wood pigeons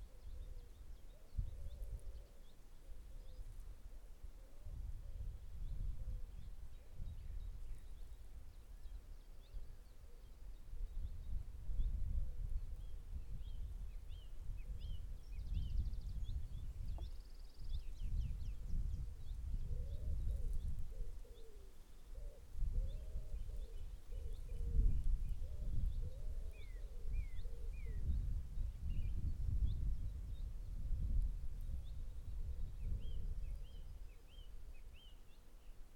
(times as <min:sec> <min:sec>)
0:00.0 0:05.8, 0:17.9 0:28.4